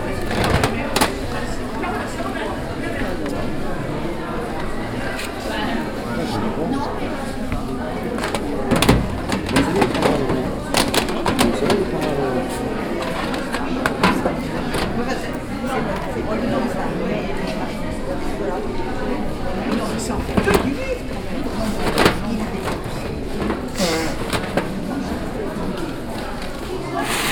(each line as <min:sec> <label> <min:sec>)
0:00.0 crowd 0:27.3